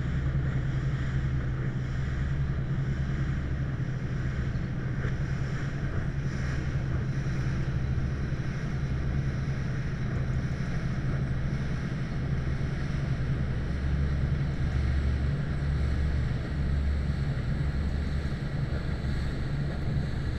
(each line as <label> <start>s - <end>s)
cargo ship 0.0s - 20.3s
two boats are passing 0.0s - 20.3s